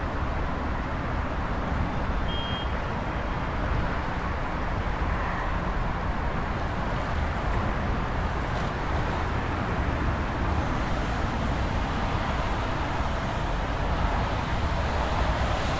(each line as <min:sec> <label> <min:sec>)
0:00.0 Traffic 0:15.7